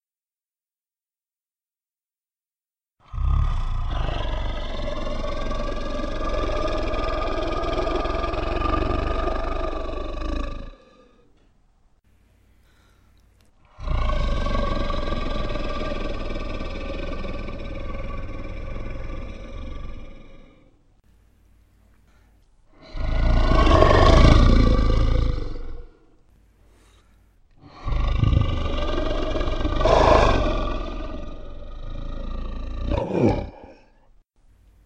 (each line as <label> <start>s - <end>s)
monster growls 3.0s - 11.3s
monster growls 13.6s - 20.8s
monster growls 22.7s - 26.2s
monster growls 27.6s - 34.1s